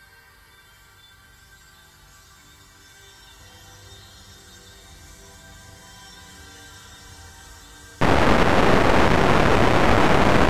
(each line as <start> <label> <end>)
8.0 heavily reverberated distortion 10.4
8.0 slowly evolving dreamy ambient drone pad 10.4